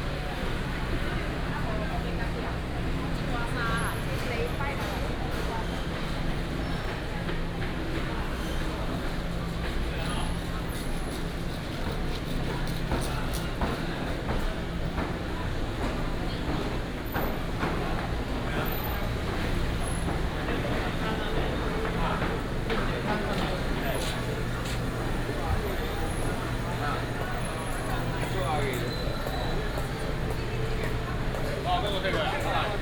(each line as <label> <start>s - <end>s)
Walking through the market 0.0s - 32.8s